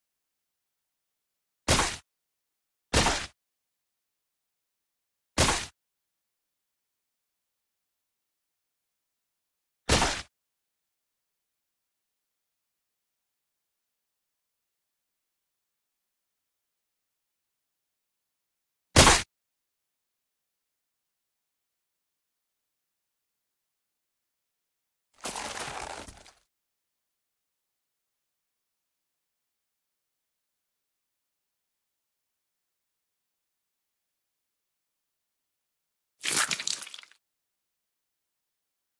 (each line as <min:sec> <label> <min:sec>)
0:01.7 splat 0:02.0
0:03.0 splat 0:03.4
0:05.4 splat 0:05.7
0:09.9 splat 0:10.3
0:19.0 splat 0:19.2
0:25.2 smash 0:26.4
0:25.2 squish 0:26.4
0:36.2 splat 0:37.2
0:36.2 squish 0:37.2